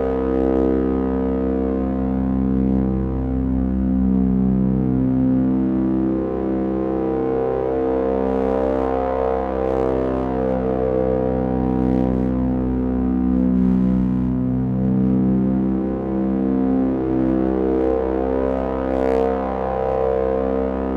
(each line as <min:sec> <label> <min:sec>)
0:00.0 scifi drones 0:20.9